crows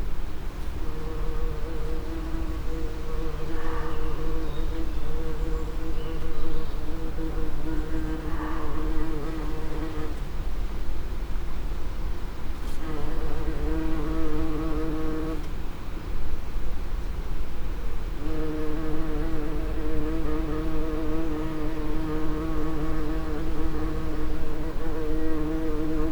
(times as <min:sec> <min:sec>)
0:03.2 0:04.4